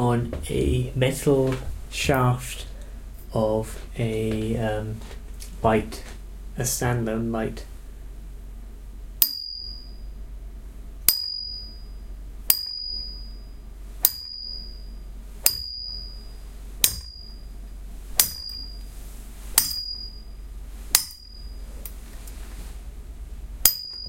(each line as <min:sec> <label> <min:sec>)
0:09.2 narrow metal light stand being struck with a metal coat hanger 0:09.9
0:11.0 narrow metal light stand being struck with a metal coat hanger 0:11.8
0:12.5 narrow metal light stand being struck with a metal coat hanger 0:13.4
0:14.0 narrow metal light stand being struck with a metal coat hanger 0:16.2
0:16.8 narrow metal light stand being struck with a metal coat hanger 0:17.4
0:18.2 narrow metal light stand being struck with a metal coat hanger 0:18.9
0:19.5 narrow metal light stand being struck with a metal coat hanger 0:20.3
0:20.9 narrow metal light stand being struck with a metal coat hanger 0:22.0
0:23.6 narrow metal light stand being struck with a metal coat hanger 0:24.0